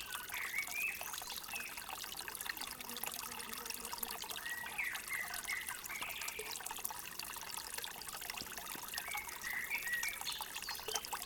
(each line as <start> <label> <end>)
0.0 stream 11.2